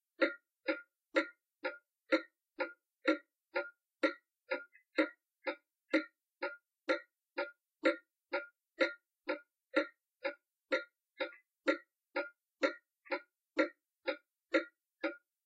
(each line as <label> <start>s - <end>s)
clock ticking 0.0s - 15.4s